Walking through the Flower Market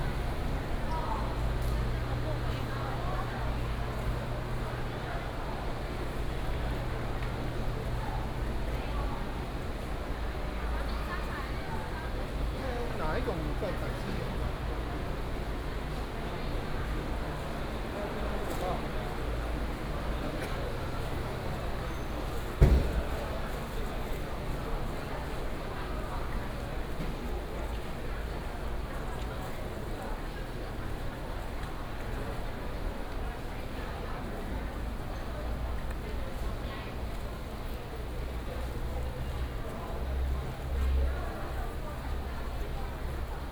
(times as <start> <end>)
21.0 43.5